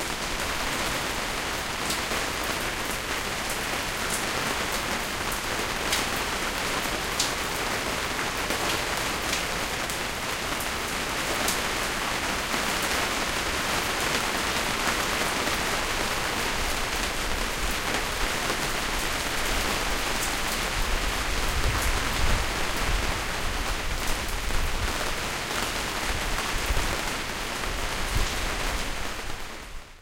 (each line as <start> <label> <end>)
0.0 Sharp rain sound on canvas awning 30.0